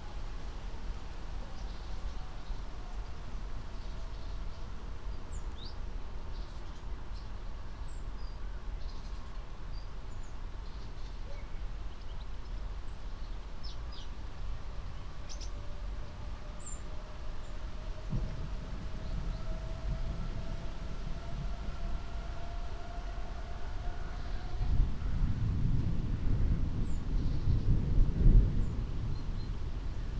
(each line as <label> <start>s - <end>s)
rain 0.0s - 30.1s
moderate wind 9.6s - 30.1s
distant thunder 17.8s - 30.1s